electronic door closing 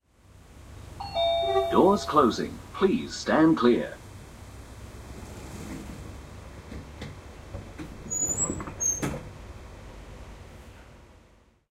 1.0s 2.3s

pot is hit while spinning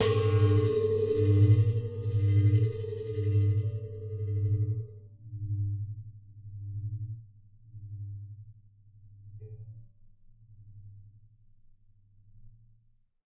0.0s 2.8s

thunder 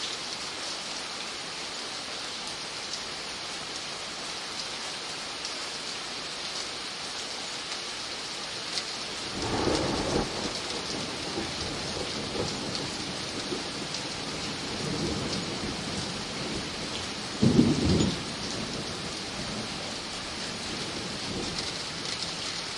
9.3s 16.7s, 17.3s 18.9s

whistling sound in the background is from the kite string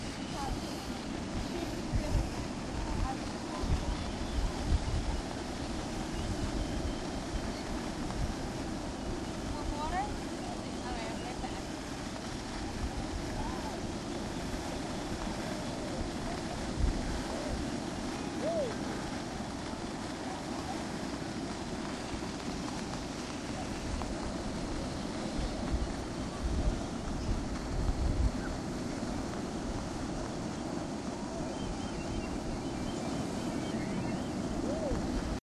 0.1s 2.3s, 2.9s 11.6s, 13.2s 19.5s, 25.2s 28.6s, 31.2s 35.4s

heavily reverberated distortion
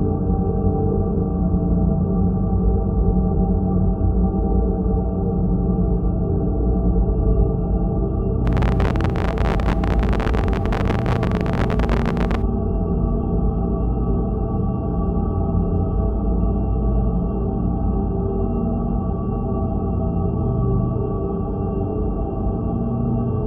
8.5s 12.4s

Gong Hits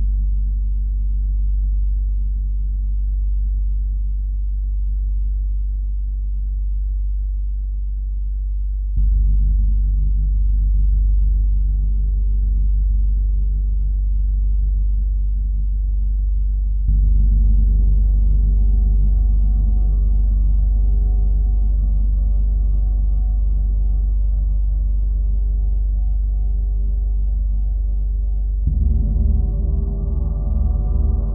28.7s 31.3s

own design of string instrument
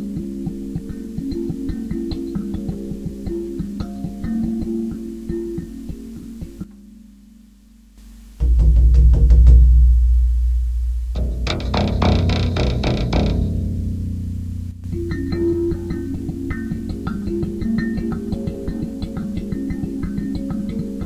8.4s 21.0s

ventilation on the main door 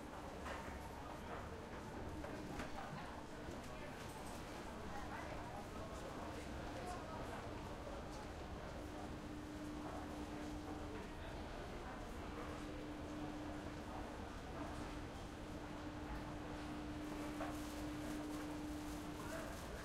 15.0s 19.8s

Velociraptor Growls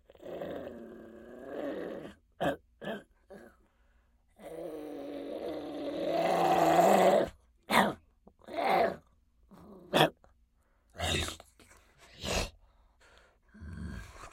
0.1s 3.6s, 4.4s 7.4s

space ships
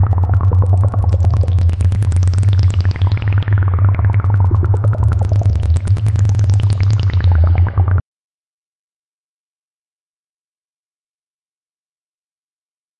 0.0s 8.0s

